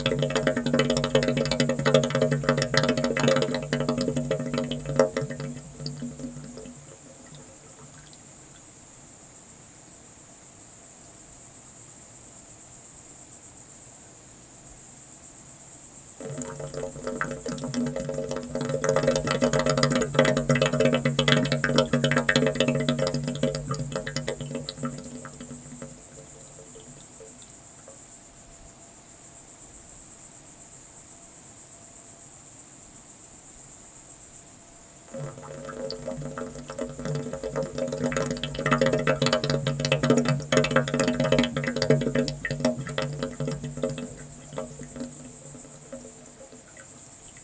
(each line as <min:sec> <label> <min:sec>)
0:00.0 fountain 0:08.6
0:00.0 insects 0:47.4
0:16.2 fountain 0:27.9
0:35.1 fountain 0:47.4